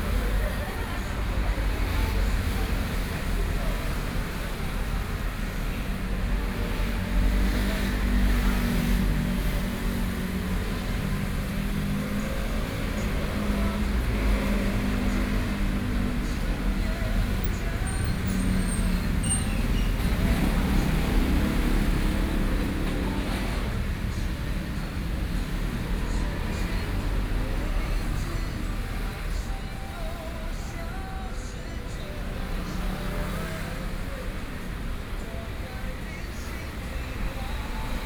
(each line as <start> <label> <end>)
0.0 Traffic Sound 38.0